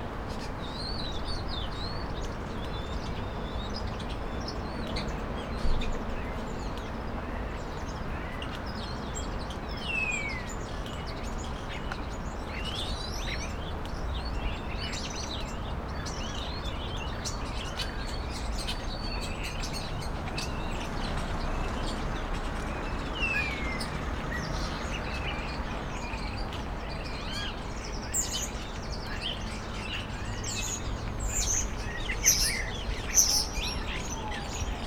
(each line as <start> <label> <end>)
19.6 cars 26.7